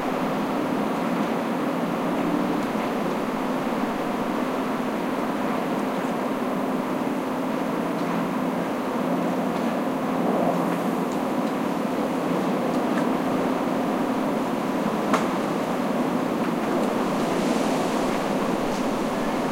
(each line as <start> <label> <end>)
13.2 blowing leaves 19.5
13.2 sustained wind 19.5